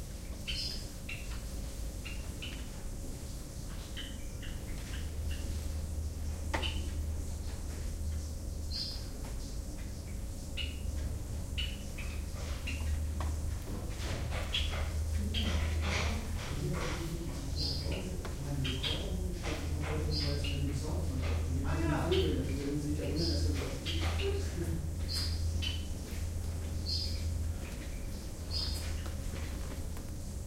gardener working 0:04.6 - 0:30.4

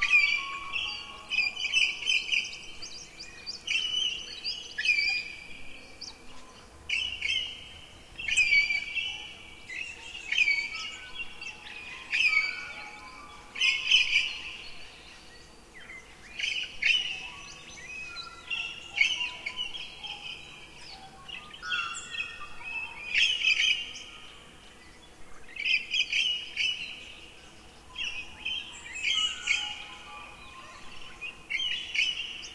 fly 0:00.0 - 0:32.5
insect 0:00.0 - 0:32.5

